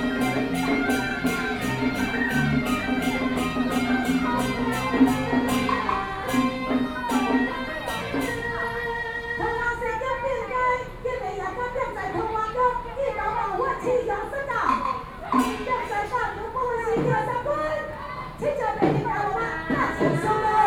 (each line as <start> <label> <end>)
0.0 Taiwanese Opera 12.2
13.8 Taiwanese Opera 20.6